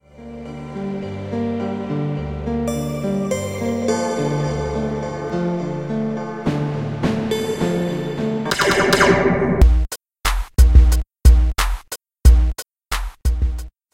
beat 0:08.5 - 0:11.5

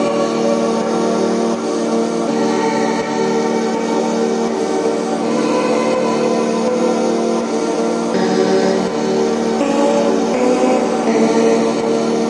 synths 0:00.0 - 0:12.2
vocals 0:00.0 - 0:12.2

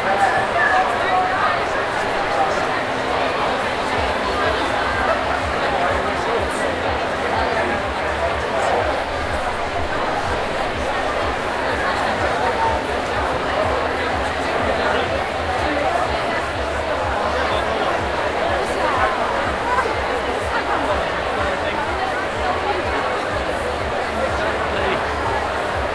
Large Crowd 0:00.0 - 0:25.9

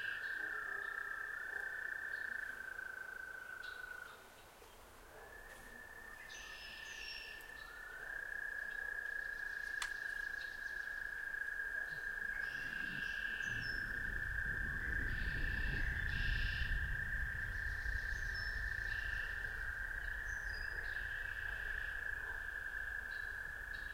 Active frogs 0:00.0 - 0:04.2
birds 0:00.0 - 0:23.9
wind 0:00.0 - 0:23.9
distant dog barks 0:00.3 - 0:02.2
distant dog barks 0:05.0 - 0:05.9
Active frogs 0:07.8 - 0:23.9
distant dog barks 0:20.6 - 0:23.0

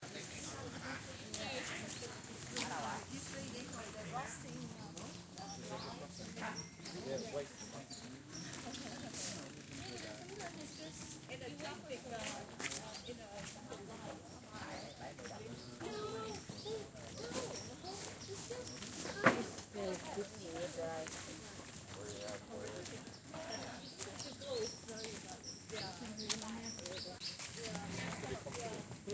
Tourists walking through garden with gravel 0:00.0 - 0:29.1

